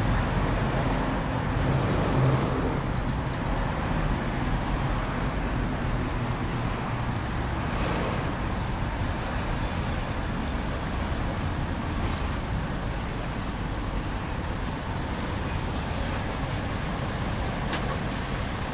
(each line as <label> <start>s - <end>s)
Road Traffic 0.0s - 18.7s
lorries 0.0s - 18.7s
pedestrian crossing nearby that occasionally starts beeping 0.0s - 18.7s